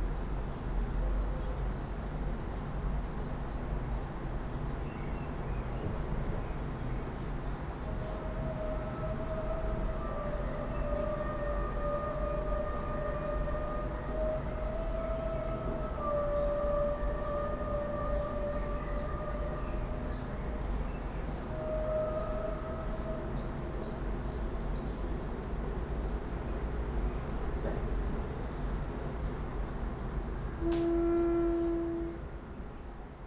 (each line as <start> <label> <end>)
30.6 window slit flute 32.2